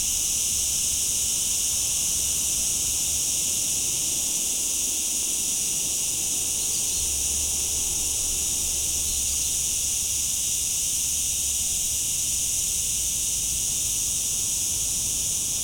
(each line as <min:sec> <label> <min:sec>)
0:00.0 Cicada chorus 0:15.6